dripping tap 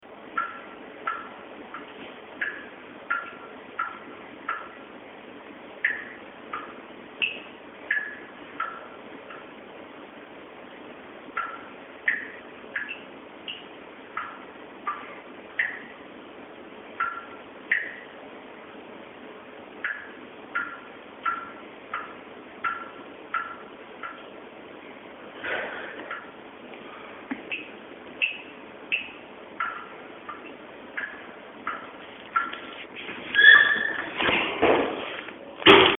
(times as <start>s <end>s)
0.4s 1.8s, 2.4s 4.8s, 5.8s 9.4s, 11.4s 15.0s, 15.6s 15.9s, 17.0s 18.0s, 19.8s 24.2s, 27.3s 32.6s